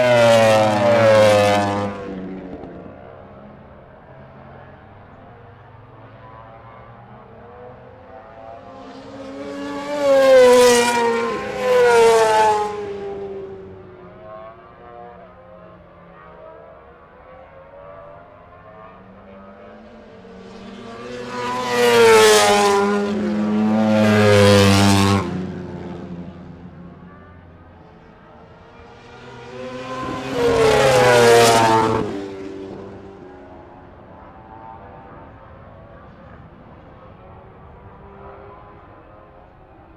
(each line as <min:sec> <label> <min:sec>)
0:00.0 Motorcycle Grand Prix 0:39.9